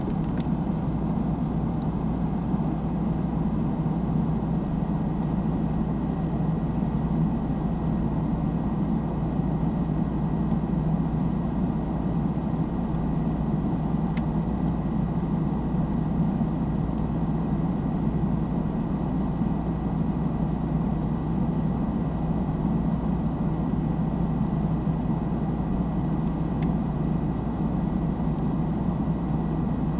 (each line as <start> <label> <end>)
0.0 freezer 3.9